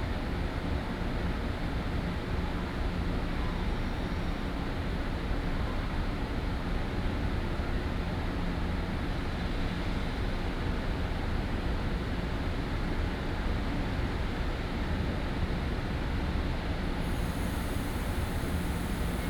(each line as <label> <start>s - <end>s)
Train arrives and leaves 17.0s - 19.2s